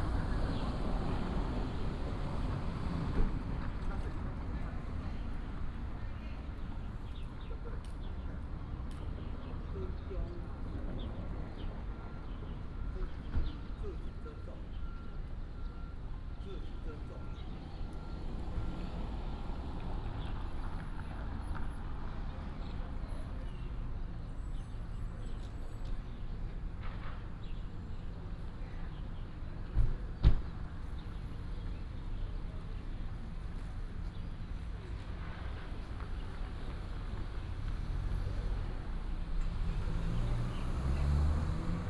0.0s Taxi driver 41.8s
0.0s Traffic sound 41.8s

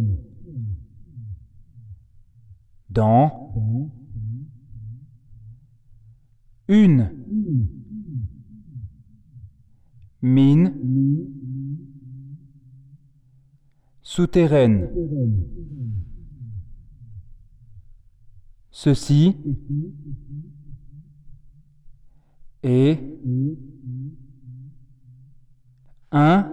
0.0s speak inside 8.6s
0.0s echo is loud 26.5s
9.6s speak inside 26.5s

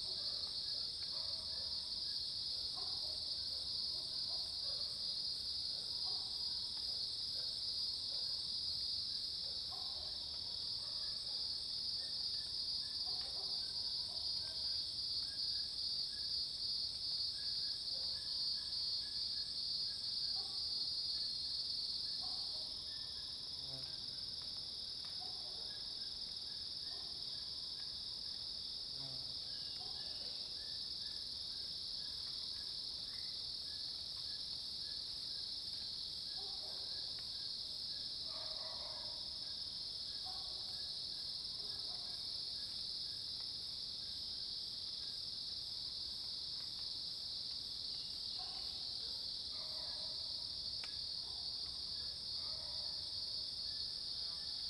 0.0s Dog barking 1.8s
2.8s Dog barking 5.0s
6.0s Dog barking 6.4s
9.5s Dog barking 12.1s
13.0s Dog barking 14.6s
36.4s Dog barking 37.0s
38.2s Dog barking 39.4s
40.2s Dog barking 40.7s
41.6s Dog barking 42.2s
48.4s Dog barking 50.3s
51.2s Dog barking 51.5s
52.4s Dog barking 53.0s

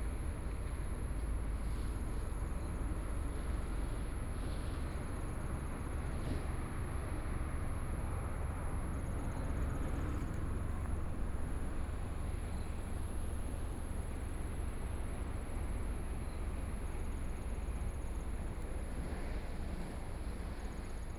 0.0s waves 21.1s

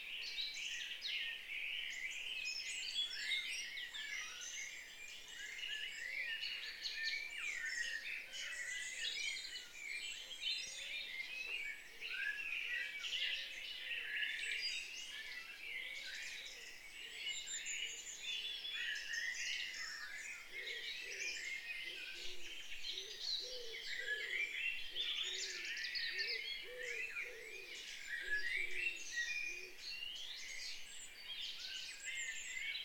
0.0s birdsong 32.8s

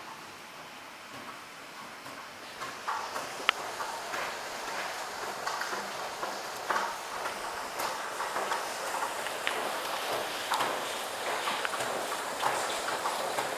0.0s rain recorded from window 13.5s

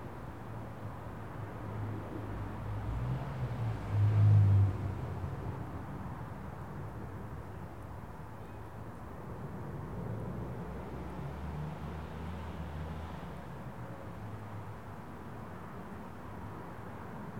0.0s background noises from the road 17.3s
0.0s wind 17.3s

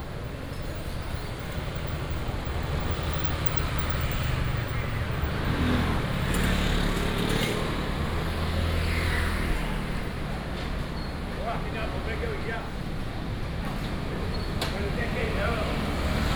0.0s traffic sound 16.3s
0.0s walking in the Fruit and vegetable wholesale market area 16.3s

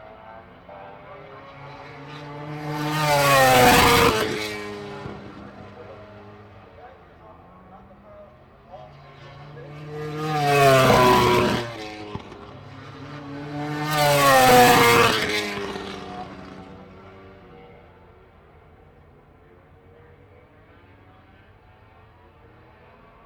0.1s commentary 17.0s

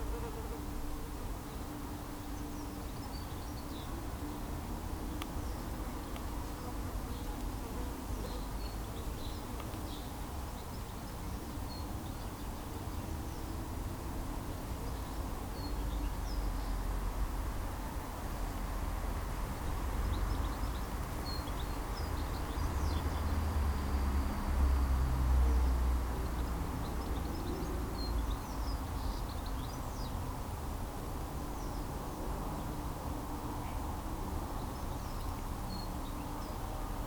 0.0s chatter of the birds in the trees 16.9s
0.0s bees in the bush 37.0s
0.0s bird perching in the winter flowering cherry blossom tree 37.0s
0.0s murmur of traffic from the nearby main road 37.0s
0.0s wind rifling through the stiff branches 37.0s
20.0s chatter of the birds in the trees 24.0s
26.2s chatter of the birds in the trees 37.0s

